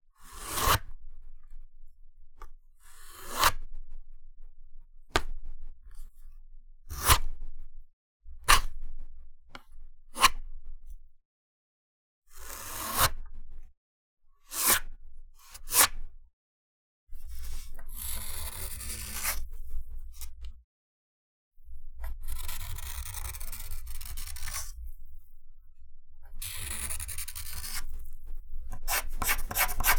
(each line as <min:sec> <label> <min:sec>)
0:17.3 pencil dragging across a piece of paper 0:19.6
0:22.0 pencil dragging across a piece of paper 0:25.0
0:26.4 pencil dragging across a piece of paper 0:29.9